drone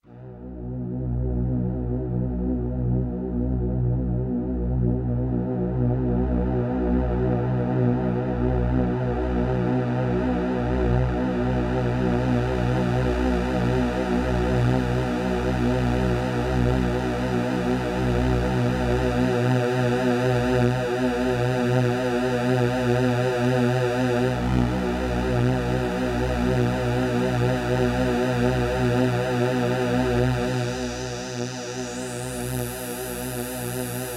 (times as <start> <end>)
22.3 34.1